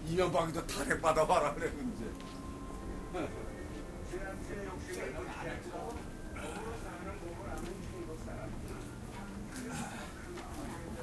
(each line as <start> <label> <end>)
2.1 steps 3.9